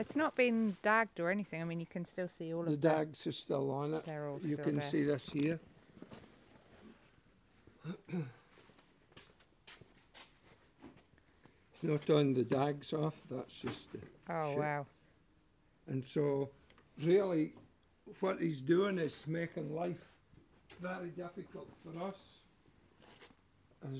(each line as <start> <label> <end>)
0.0 talking about the way wool should be presented 5.6
11.8 talking about the way wool should be presented 14.9